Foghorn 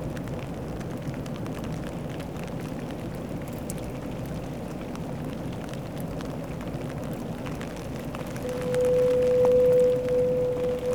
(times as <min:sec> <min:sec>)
0:08.3 0:10.9